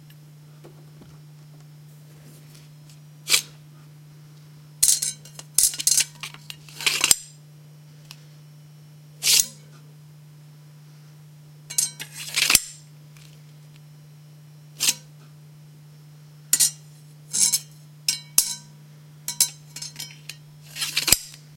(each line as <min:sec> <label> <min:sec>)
0:03.3 Drawing and sheathing of a metal dagger 0:03.5
0:04.8 Drawing and sheathing of a metal dagger 0:07.3
0:09.2 Drawing and sheathing of a metal dagger 0:09.6
0:11.7 Drawing and sheathing of a metal dagger 0:12.8
0:14.8 Drawing and sheathing of a metal dagger 0:15.1
0:16.6 Drawing and sheathing of a metal dagger 0:17.7
0:19.3 Drawing and sheathing of a metal dagger 0:21.4